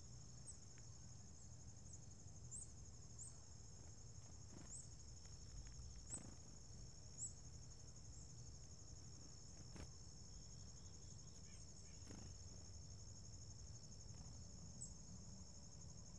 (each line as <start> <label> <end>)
1.6 birds are friendly 8.4
9.5 birds are friendly 13.0